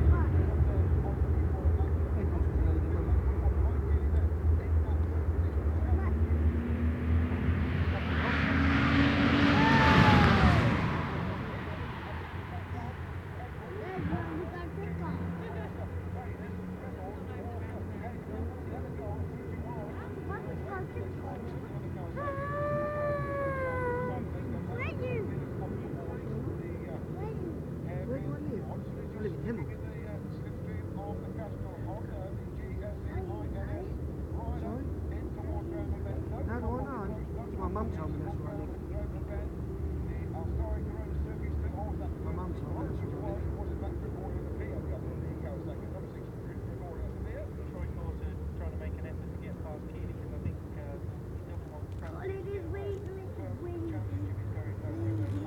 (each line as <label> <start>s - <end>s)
Superbikes 0.0s - 32.6s